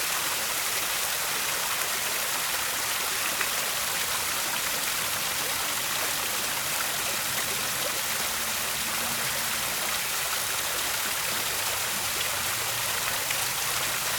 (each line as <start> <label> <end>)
0.0 Fountain 14.1